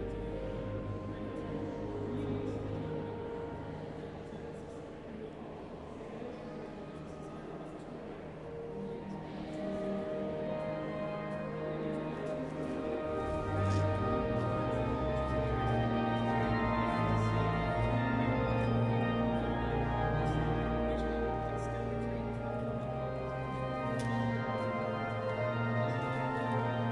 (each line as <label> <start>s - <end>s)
Visitors walking and talking 0.0s - 26.9s
organ playing 10.6s - 26.9s